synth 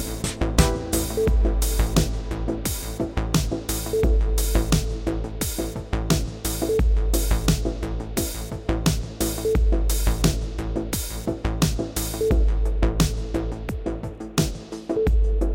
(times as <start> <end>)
0.0 5.2